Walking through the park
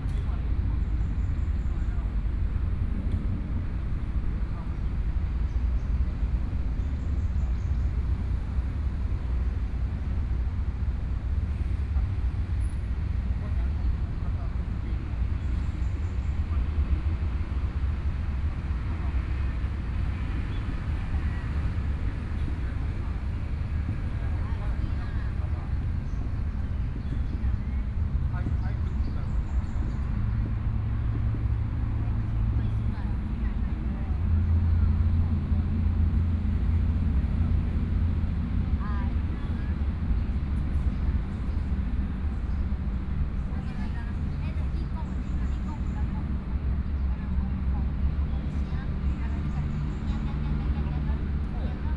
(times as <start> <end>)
11.3 51.9